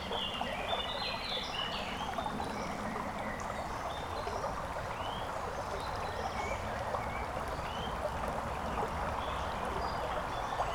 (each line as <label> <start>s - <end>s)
small stream 0.0s - 10.7s